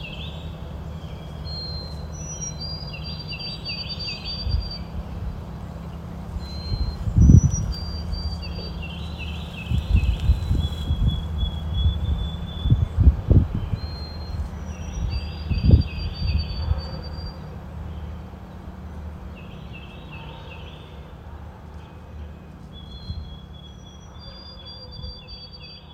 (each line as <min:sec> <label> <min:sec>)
0:00.0 train passing 0:13.3
0:00.0 vociferous white-throated sparrows 0:25.9